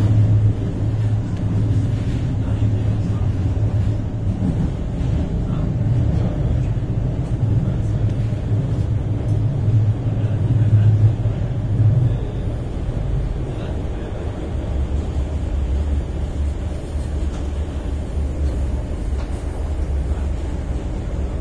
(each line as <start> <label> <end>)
0.0 Riding a train 21.4